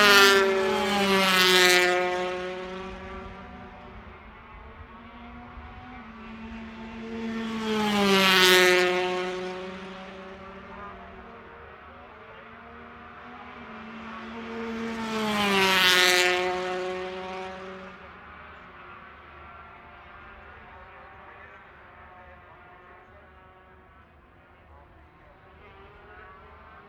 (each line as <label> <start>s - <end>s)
Motorcycle Grand Prix 0.0s - 26.8s